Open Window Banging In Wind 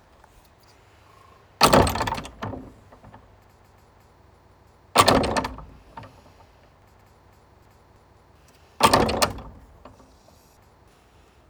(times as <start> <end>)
1.6 3.2, 8.8 9.7